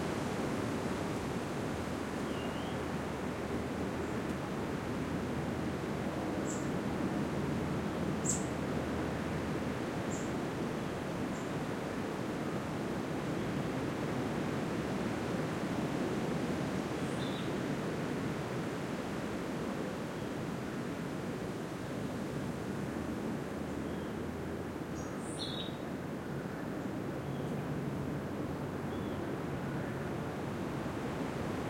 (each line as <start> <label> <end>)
0.0 wind 31.6
2.2 birdsong 2.8
6.4 birdsong 6.7
8.2 birdsong 8.5
25.0 birdsong 25.8